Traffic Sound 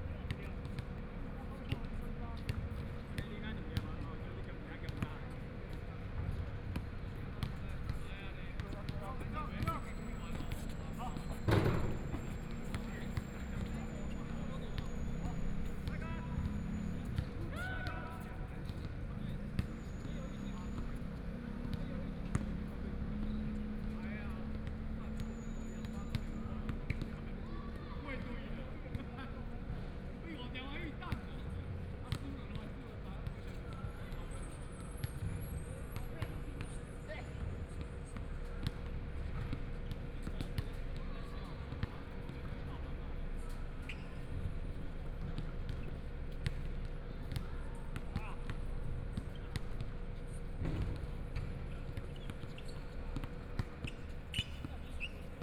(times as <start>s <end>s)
9.6s 27.0s